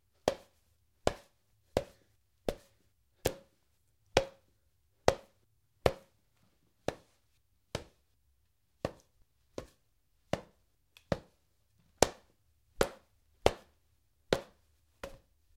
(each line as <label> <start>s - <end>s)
human head hits with a baseball bat 1.1s - 3.5s